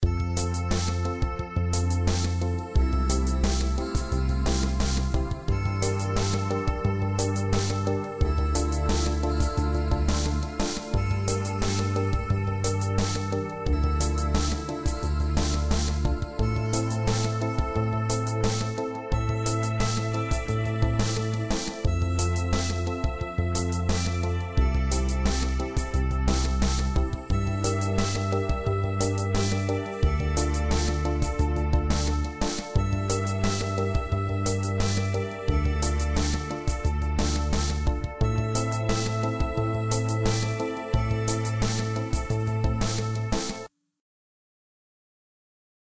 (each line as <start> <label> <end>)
0.0 guitar 43.7
0.0 percussion 43.7